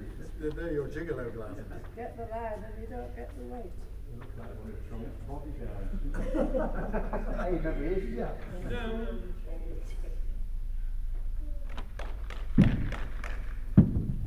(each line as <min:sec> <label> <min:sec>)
0:00.0 voices 0:10.5